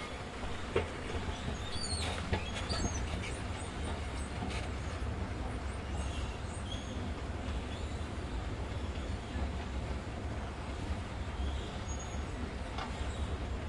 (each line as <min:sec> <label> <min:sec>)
0:00.0 squeaky travelator 0:05.2